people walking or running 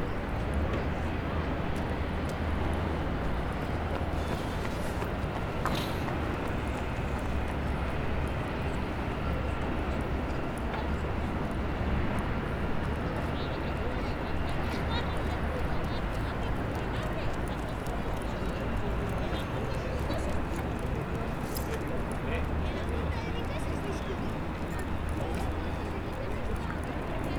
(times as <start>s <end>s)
1.7s 8.3s